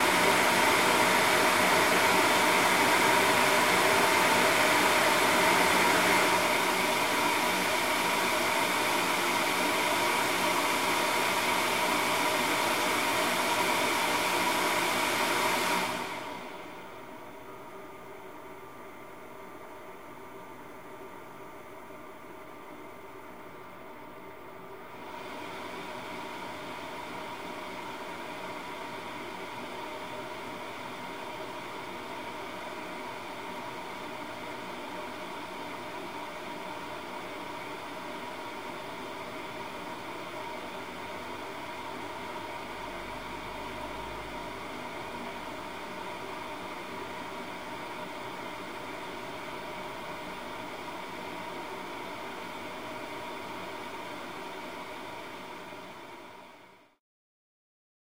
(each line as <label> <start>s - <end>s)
server fans slowing down 0.0s - 56.7s